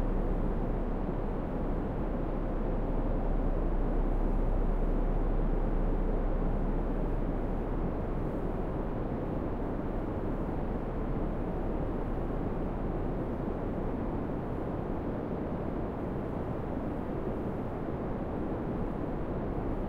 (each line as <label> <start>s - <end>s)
wind 0.0s - 19.8s